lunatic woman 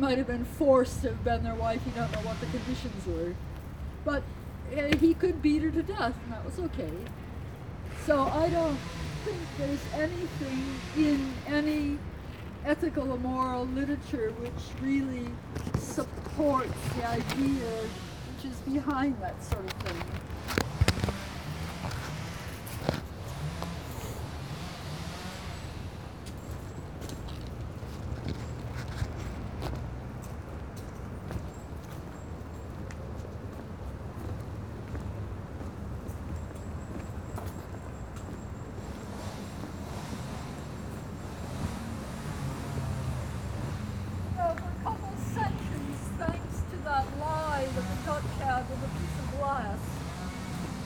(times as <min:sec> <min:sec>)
0:00.0 0:03.4, 0:04.0 0:07.2, 0:07.9 0:20.2, 0:44.3 0:50.8